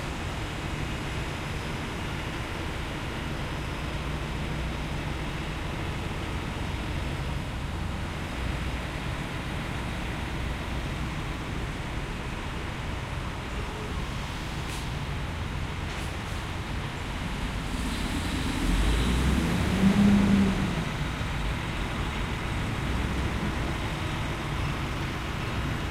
traffic 0.0 - 25.9
walking around the gas station 0.0 - 25.9

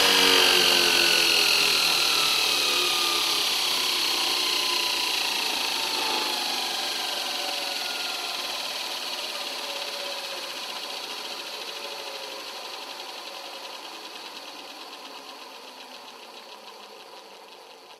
belt grinder 0.0 - 17.9

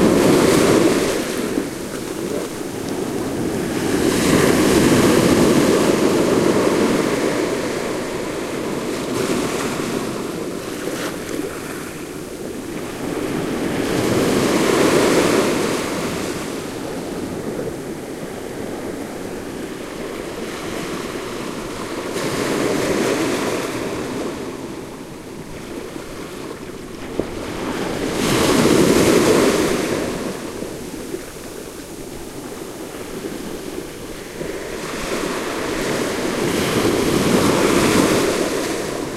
sea waves crushing on the sandy beach 0.0 - 39.1

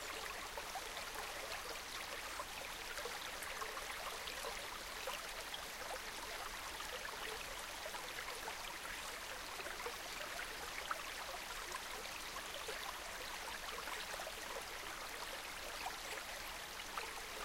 gentle stream 0.0 - 17.4

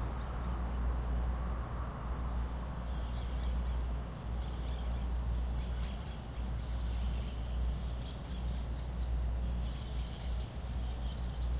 birdsong 2.3 - 11.5

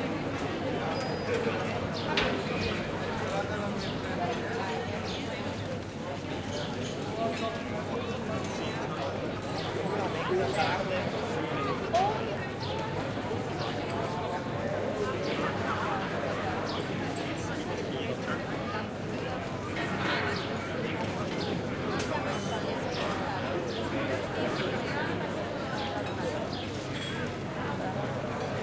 crowd 0.0 - 28.6

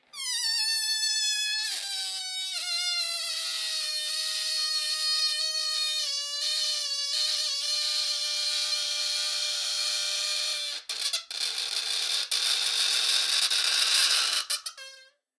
Squeaky balloons 0.0 - 15.3

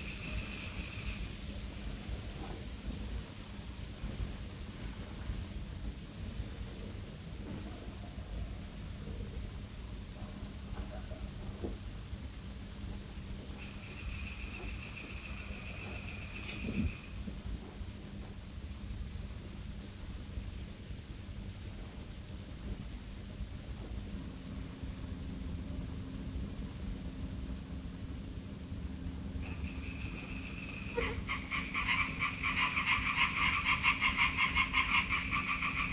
frog 0.0 - 1.3
fire 0.0 - 35.9
little white noise 0.0 - 35.9
soft night wind 0.0 - 35.9
frog 13.5 - 17.2
frog 29.4 - 35.9
birds 29.4 - 35.9

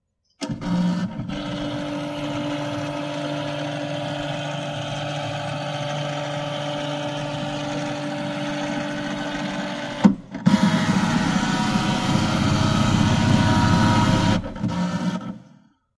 scanner 0.7 - 15.3

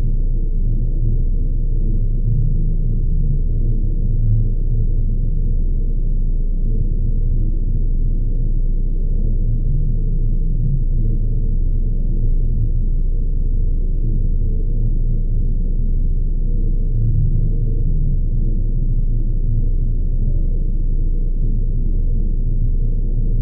faint eerie wind noise 0.0 - 23.4
low bass flutter 0.0 - 23.4

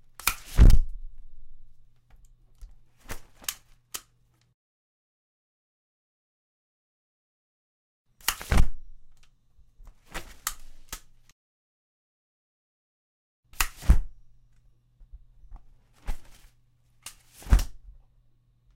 opening and closing an umbrella three times 0.1 - 1.8
opening and closing an umbrella three times 2.7 - 4.1
opening and closing an umbrella three times 8.2 - 9.3
opening and closing an umbrella three times 9.9 - 11.2
opening and closing an umbrella three times 13.5 - 14.2
opening and closing an umbrella three times 15.9 - 17.8

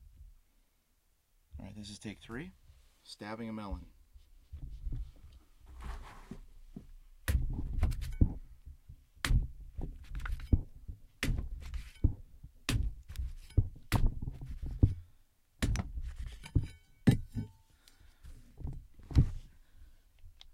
knife stabbing a melon 11.2 - 15.0
knife stabbing a melon 15.6 - 17.3

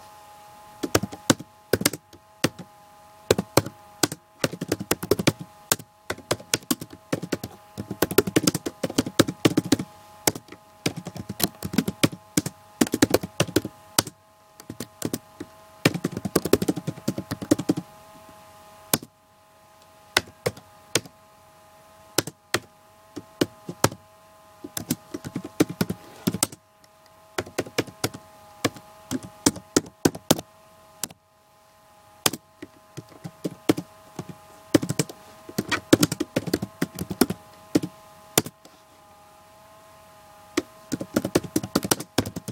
fan inside the computer 0.0 - 42.5
Typing on my laptop computer's keyboard 0.8 - 2.6
Typing on my laptop computer's keyboard 3.3 - 17.8
Typing on my laptop computer's keyboard 22.2 - 24.0
Typing on my laptop computer's keyboard 24.6 - 26.6
Typing on my laptop computer's keyboard 27.4 - 30.4
Typing on my laptop computer's keyboard 32.3 - 38.5
Typing on my laptop computer's keyboard 40.9 - 42.5

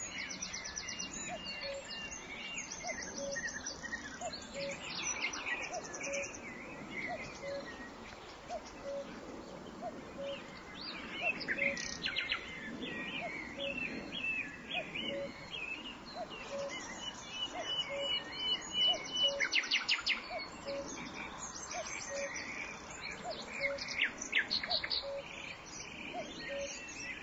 Nightingale 0.0 - 27.2
Cuckoo 1.2 - 2.0
Cuckoo 7.0 - 7.8
Cuckoo 8.5 - 10.6
Cuckoo 14.8 - 15.5
Cuckoo 16.2 - 21.1
Cuckoo 21.8 - 22.5
Cuckoo 24.6 - 25.4
Cuckoo 26.1 - 27.2

